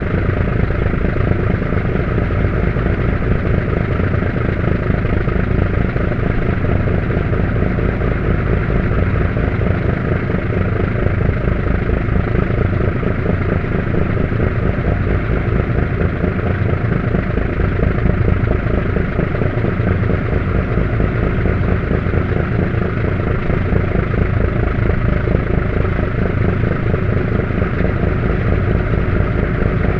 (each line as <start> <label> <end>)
0.0 Ferryboat engine at cruise speed 29.9